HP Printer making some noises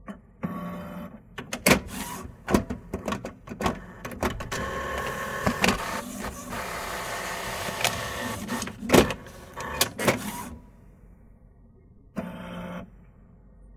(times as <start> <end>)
1.7 10.6